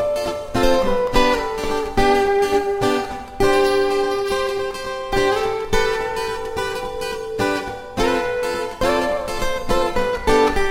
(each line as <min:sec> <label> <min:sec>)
0:00.0 two guitars 0:10.7